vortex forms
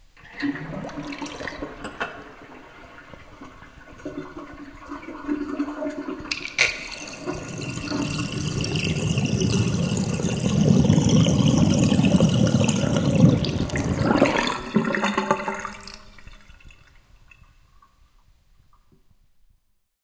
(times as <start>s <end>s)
7.0s 15.9s